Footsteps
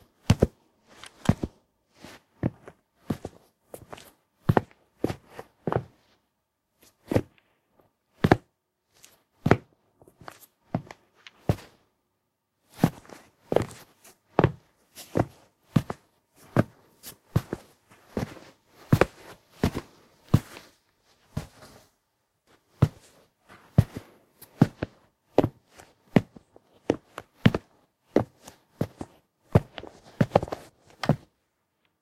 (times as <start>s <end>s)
12.8s 21.9s